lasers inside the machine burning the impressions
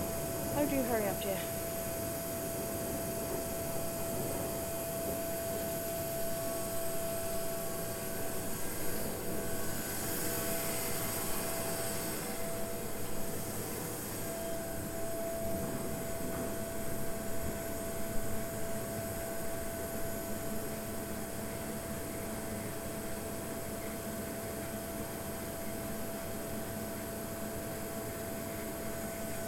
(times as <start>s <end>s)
0.0s 7.7s